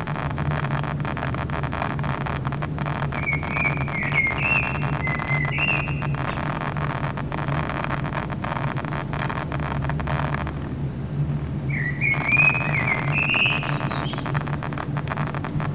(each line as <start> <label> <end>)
0.0 Drone air conditioner 15.7
0.0 Loud speaker crackling 15.7
2.5 bird 6.7
11.7 bird 15.4